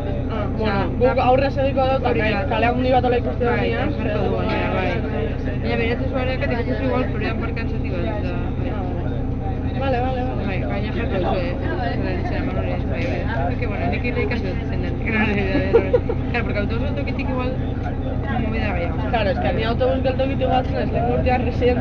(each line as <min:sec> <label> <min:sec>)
0:00.0 people talking 0:21.8